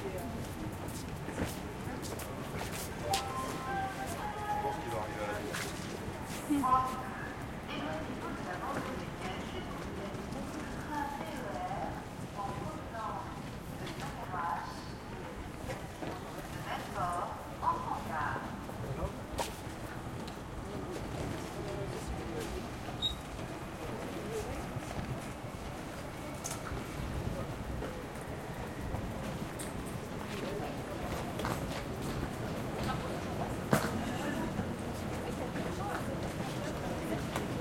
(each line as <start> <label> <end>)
0.0 quiet french walla 37.6
0.0 train 37.6